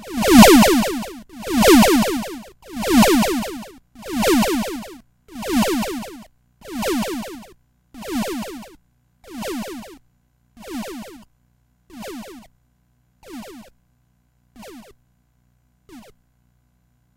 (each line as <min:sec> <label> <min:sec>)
0:00.0 Soundeffects recorded from the Atari ST 0:10.0
0:10.6 Soundeffects recorded from the Atari ST 0:11.3
0:11.9 Soundeffects recorded from the Atari ST 0:12.5
0:13.2 Soundeffects recorded from the Atari ST 0:13.7
0:14.6 Soundeffects recorded from the Atari ST 0:15.0
0:15.9 Soundeffects recorded from the Atari ST 0:16.2